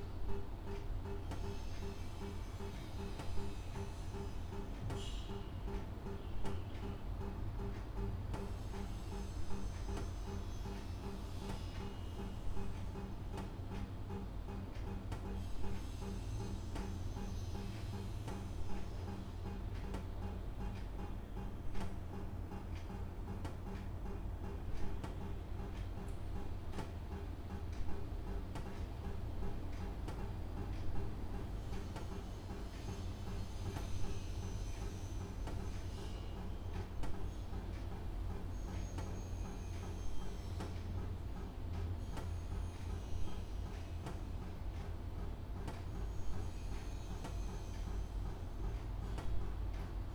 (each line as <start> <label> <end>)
5.7 clock 50.1